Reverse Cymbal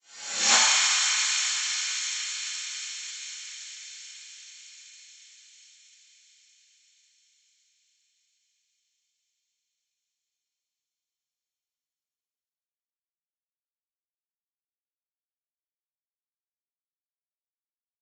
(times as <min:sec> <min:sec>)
0:00.0 0:07.2